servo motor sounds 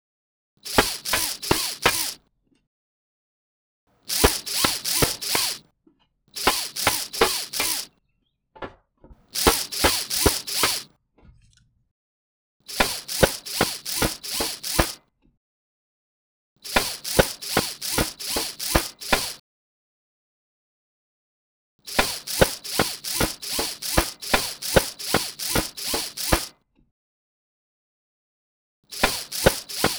0.6s 2.2s, 4.0s 5.6s, 6.3s 7.9s, 9.3s 10.9s, 12.7s 15.0s, 16.6s 19.4s, 21.8s 26.5s, 28.9s 29.9s

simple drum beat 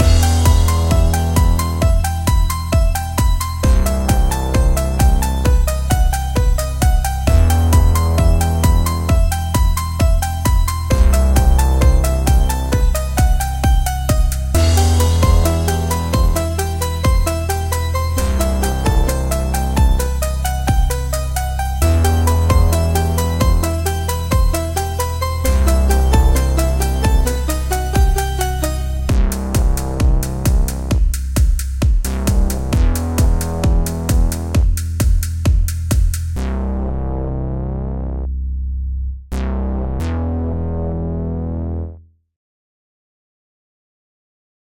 0.0s 21.0s, 21.8s 36.4s

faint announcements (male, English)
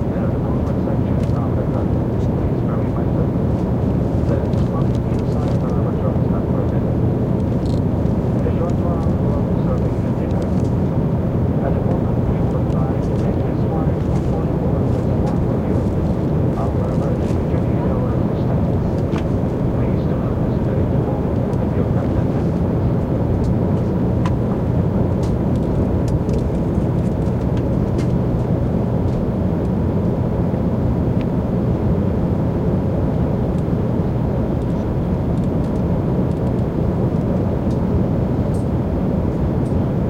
0.0s 27.6s

